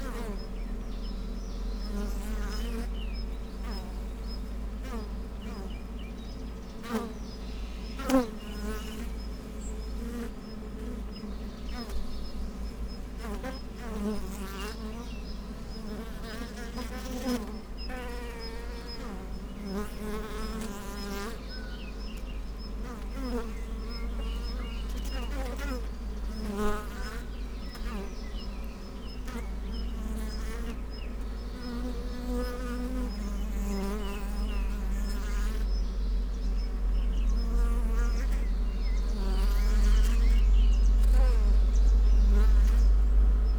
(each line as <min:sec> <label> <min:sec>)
0:00.0 bees hiving in a log 0:43.5
0:35.6 noise from the nearby road 0:43.5